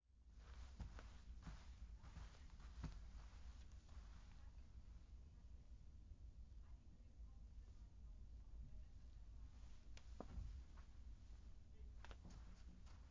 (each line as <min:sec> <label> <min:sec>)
0:00.4 Quick / light steps on carpet 0:04.6
0:09.6 Quick / light steps on carpet 0:13.1